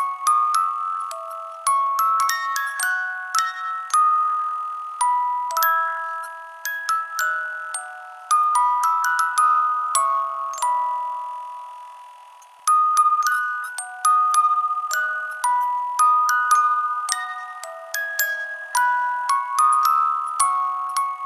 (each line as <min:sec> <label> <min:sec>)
0:00.0 Music box lullaby 0:21.2